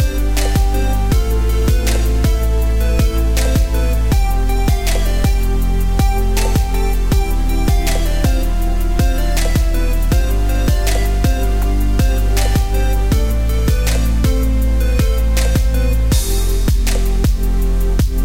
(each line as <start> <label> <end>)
0.0 Beat Background Music 18.2